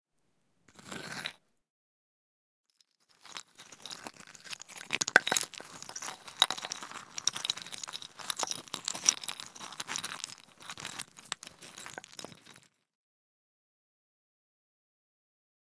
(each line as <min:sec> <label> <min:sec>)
0:02.8 Playing with a pile of stones 0:12.8